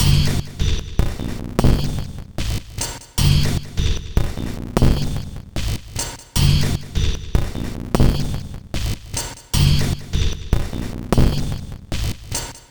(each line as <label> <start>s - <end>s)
Drum Loop 0.0s - 12.7s